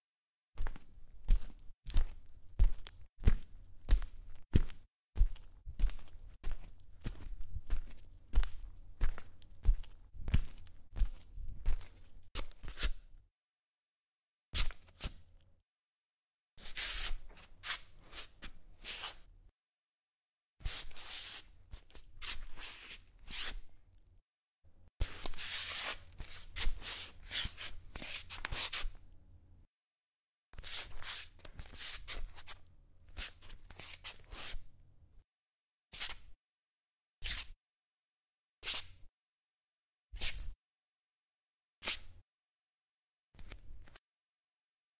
0.6s footsteps barefoot parquet 13.0s

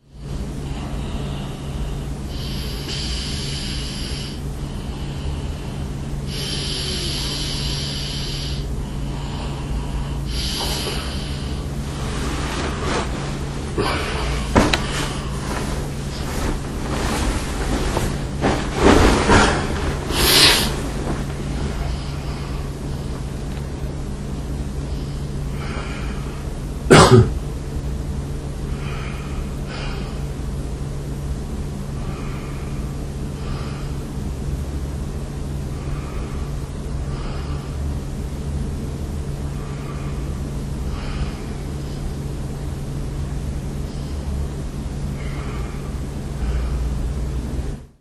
0.0s Moving while I sleep 48.0s
0.6s breath 11.7s
13.7s breath 23.2s
24.8s breath 26.6s
28.7s breath 30.3s
32.0s breath 34.1s
35.7s breath 37.9s
39.5s breath 42.2s
43.8s breath 44.5s
45.1s breath 47.2s

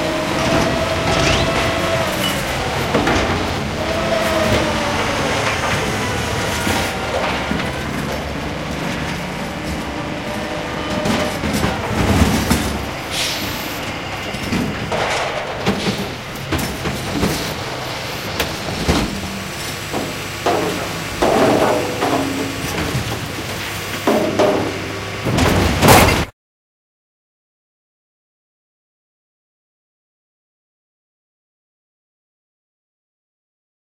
0.1s trash sound 26.3s

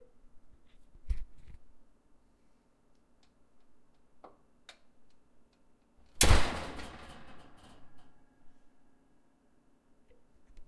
6.2s screen door slam 8.0s

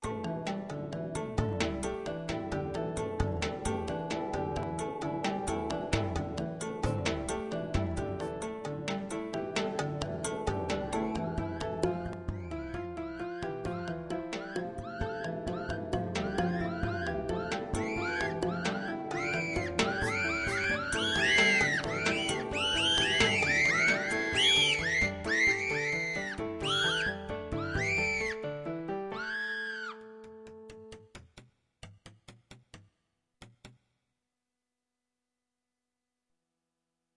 14.4s scream section 28.4s

